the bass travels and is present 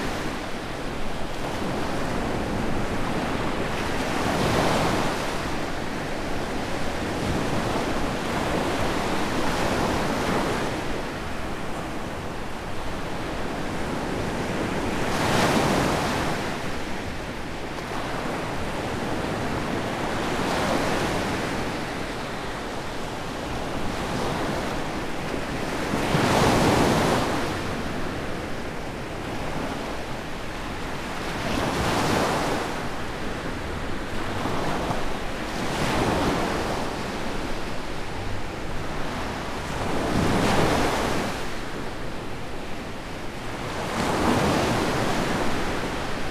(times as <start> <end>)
33.5 34.5